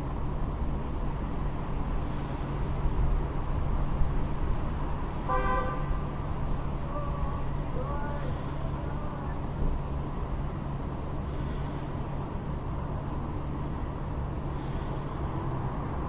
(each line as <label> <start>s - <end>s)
engine 0.0s - 16.0s
breath 2.0s - 2.8s
two honks 5.3s - 6.0s
breath 8.3s - 8.8s
breath 11.2s - 12.1s
breath 14.4s - 15.8s